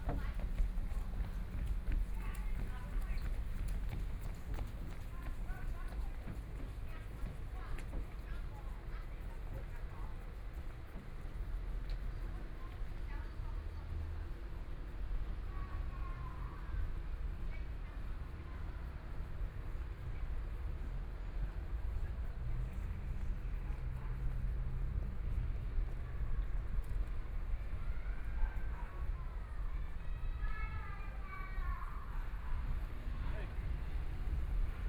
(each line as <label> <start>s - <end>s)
People walking 0.0s - 8.1s
Walking on abandoned railroad tracks 0.0s - 13.1s